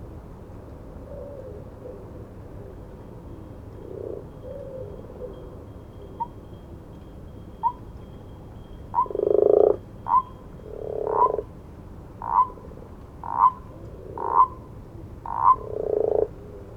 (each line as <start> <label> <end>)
1.0 distant owls 11.5
3.8 frogs or toads 6.6
7.5 frogs or toads 7.9
8.6 frogs or toads 11.6
12.2 frogs or toads 12.6
12.2 distant owls 16.7
13.2 frogs or toads 16.4